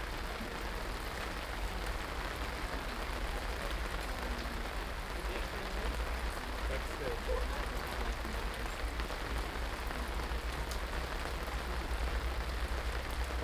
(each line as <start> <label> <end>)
0.0 rain 13.4